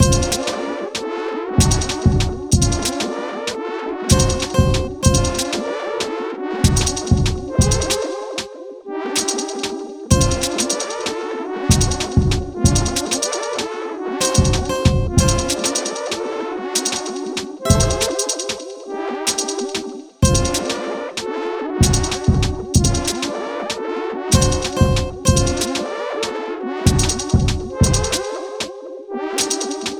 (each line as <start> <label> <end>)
0.0 drum 0.6
4.1 drum 5.6
6.6 drum 8.0
10.1 drum 10.8
11.7 drum 13.0
14.2 drum 16.0
17.7 drum 18.6
20.2 drum 20.8
24.3 drum 25.8
26.9 drum 28.2